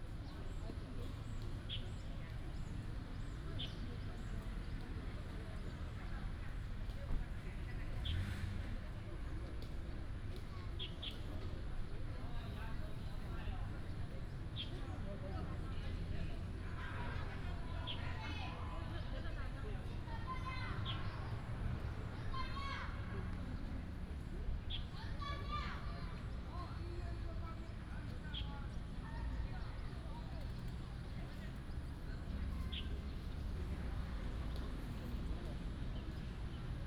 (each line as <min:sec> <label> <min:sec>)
0:00.0 Traffic sound 0:36.8
0:20.3 birds sound 0:35.2